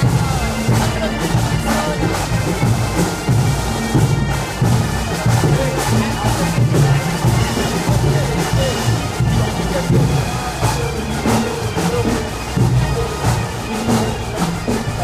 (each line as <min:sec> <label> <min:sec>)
0:00.0 bagpipes 0:15.0
0:00.0 drums 0:15.0